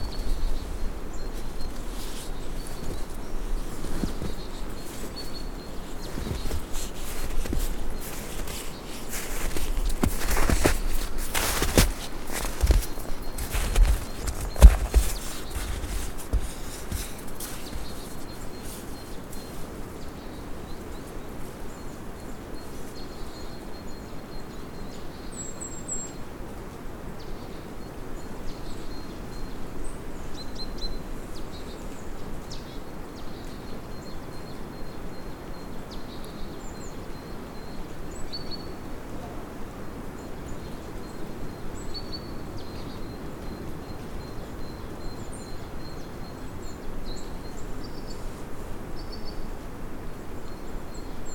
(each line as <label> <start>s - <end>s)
footsteps in the snow 0.0s - 21.6s
birds singing 0.0s - 26.2s
birds singing 27.2s - 49.6s